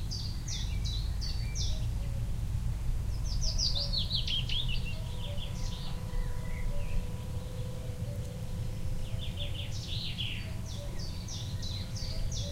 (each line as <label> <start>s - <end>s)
birds 0.0s - 12.5s
tractor in a field 0.0s - 12.5s